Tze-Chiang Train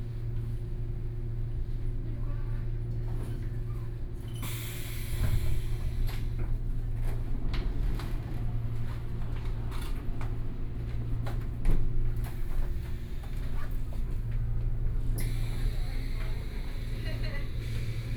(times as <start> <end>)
3.5 11.2, 11.8 18.1